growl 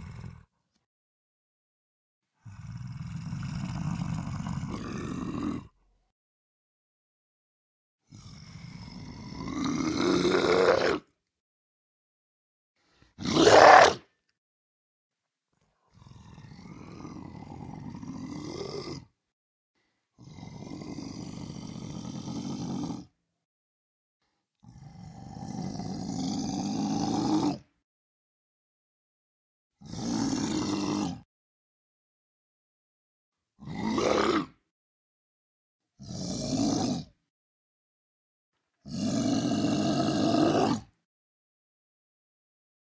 0.0s 0.9s, 2.3s 6.0s, 8.0s 11.2s, 12.9s 14.2s, 15.8s 19.3s, 20.1s 23.2s, 24.4s 27.8s, 29.8s 31.3s, 33.5s 34.7s, 36.0s 37.3s, 38.8s 41.1s

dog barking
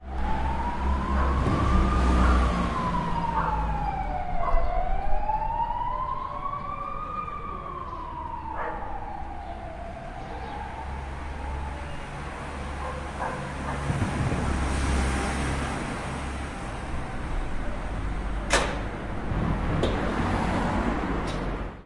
1.2s 1.4s, 3.4s 3.6s, 4.4s 4.7s, 8.6s 9.0s, 12.8s 13.9s

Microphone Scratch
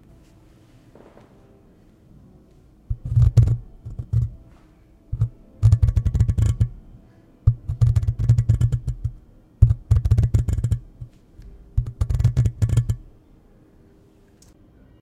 2.9s 6.8s, 7.5s 11.2s, 11.8s 13.1s

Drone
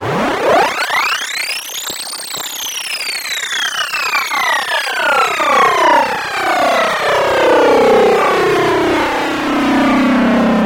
4.2s 10.6s

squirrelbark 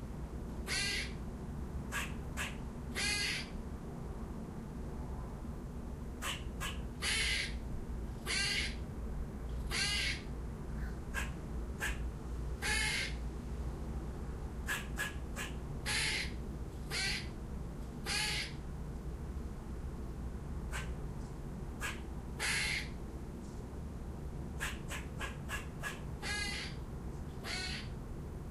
1.9s 3.5s, 6.2s 7.6s, 8.3s 8.8s, 9.7s 10.2s, 11.1s 12.0s, 12.6s 13.2s, 14.6s 17.3s, 20.7s 21.0s, 21.8s 22.9s, 24.6s 26.8s, 27.4s 27.9s

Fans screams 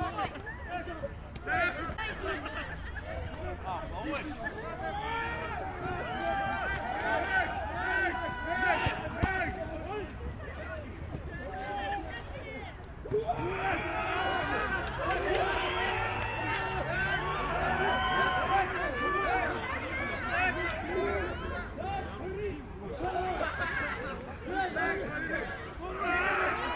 13.2s 21.6s

